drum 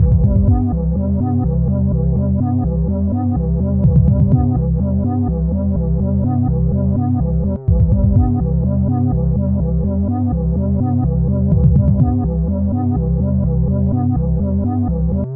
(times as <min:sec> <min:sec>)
0:00.0 0:00.8, 0:03.8 0:04.6, 0:07.7 0:08.5, 0:11.5 0:12.3